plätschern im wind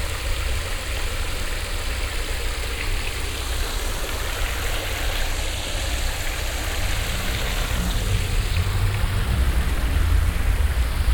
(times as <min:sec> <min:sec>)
0:06.4 0:11.1